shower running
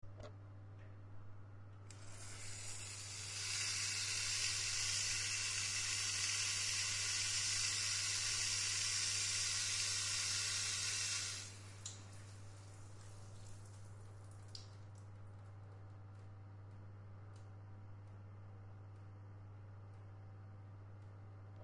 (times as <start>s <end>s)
1.9s 15.2s